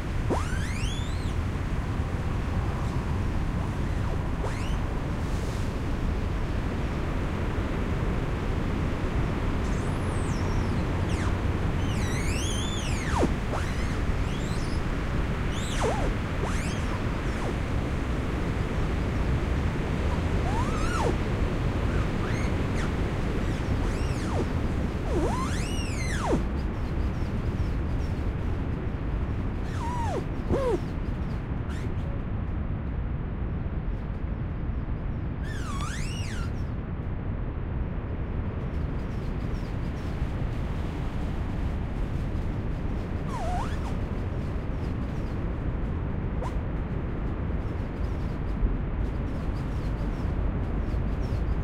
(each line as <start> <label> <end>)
0.0 Trees Rubbing Together 1.4
9.6 Trees Rubbing Together 26.5
29.6 Trees Rubbing Together 30.8
42.8 Trees Rubbing Together 44.4